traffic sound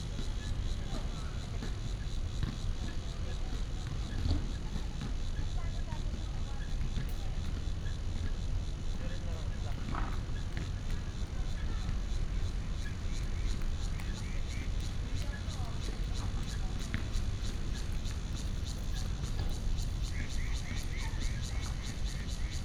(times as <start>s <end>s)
8.0s 22.6s